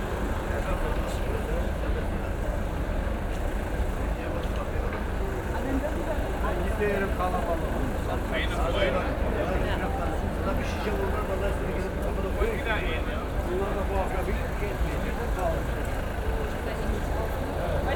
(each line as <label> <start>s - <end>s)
street seller 0.0s - 17.9s